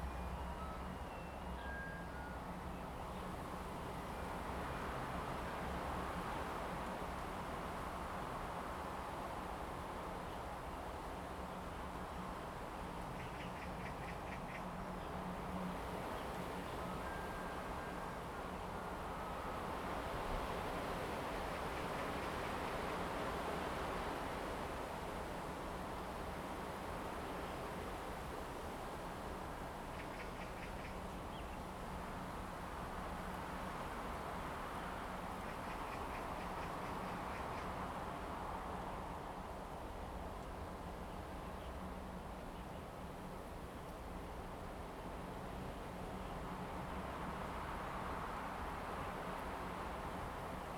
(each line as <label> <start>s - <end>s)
Wind 0.0s - 50.7s